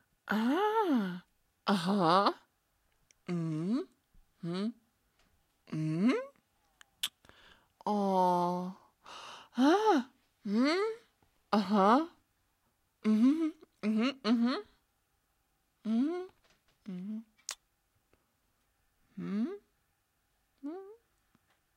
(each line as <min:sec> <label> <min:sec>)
0:00.3 voice 0:02.5
0:03.3 voice 0:04.8
0:05.7 voice 0:06.4
0:07.8 voice 0:08.8
0:09.6 voice 0:12.2
0:13.0 voice 0:14.7
0:15.9 voice 0:17.3
0:19.2 voice 0:19.7
0:20.6 voice 0:21.0